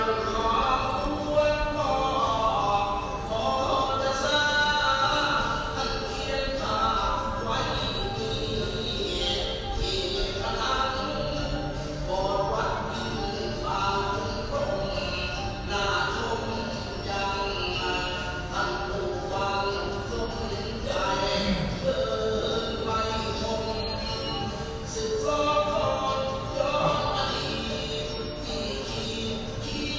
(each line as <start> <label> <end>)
0.0 Temple Music 29.9